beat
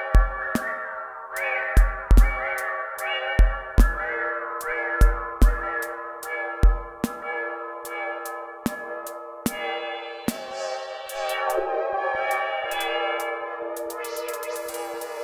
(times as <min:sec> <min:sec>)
0:01.4 0:05.9, 0:09.5 0:15.2